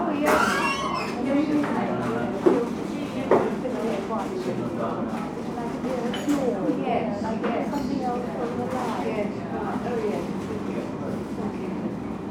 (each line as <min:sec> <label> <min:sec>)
0:00.0 noisy fans 0:12.3
0:00.0 people at tables 0:12.3